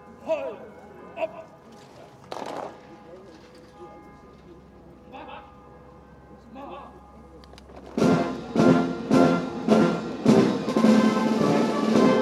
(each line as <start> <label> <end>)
7.6 marching band 12.2